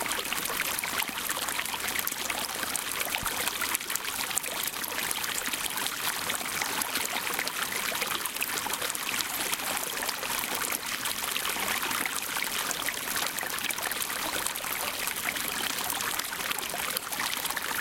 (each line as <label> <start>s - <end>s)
Stream 0.0s - 17.8s